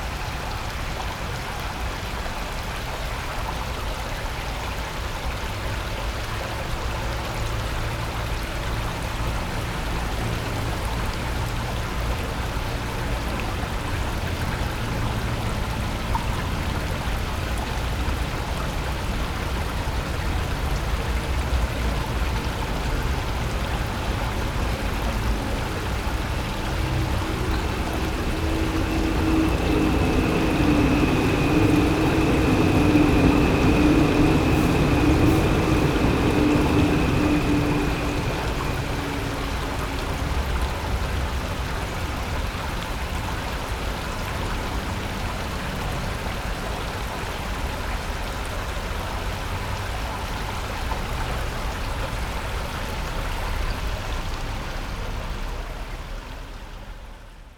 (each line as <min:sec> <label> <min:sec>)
0:06.4 Traveling by train 0:47.1
0:14.2 Water sound 0:42.4